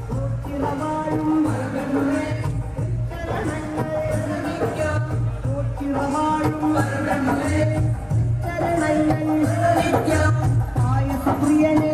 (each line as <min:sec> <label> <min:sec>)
0:00.0 chant 0:11.9